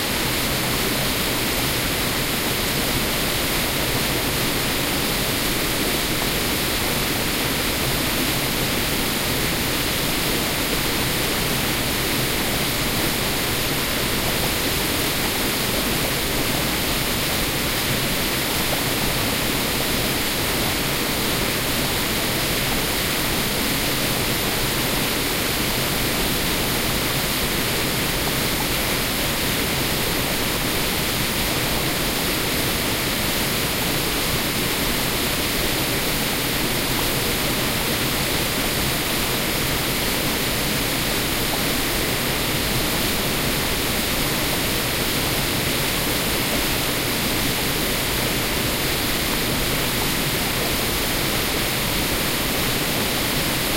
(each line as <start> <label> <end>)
0.0 steady waterfall 53.7